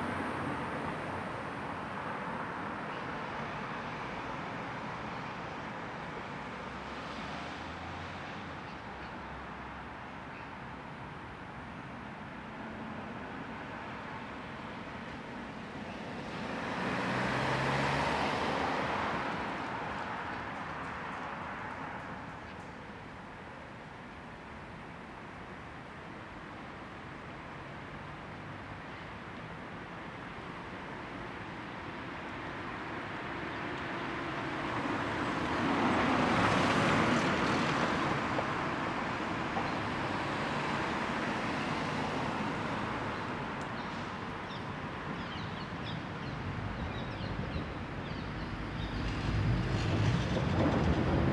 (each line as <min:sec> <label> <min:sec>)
0:00.0 Cars 0:51.3
0:43.7 trams 0:51.3